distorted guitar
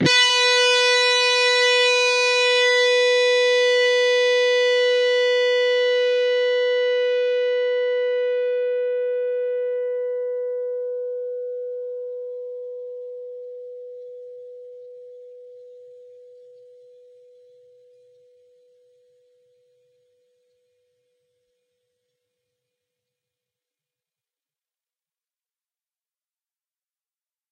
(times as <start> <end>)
0.0 19.6